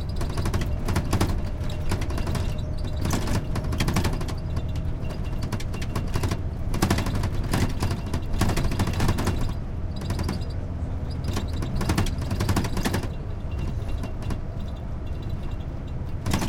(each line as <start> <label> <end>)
0.0 bus rattly TV frame metal plastic squeak 16.4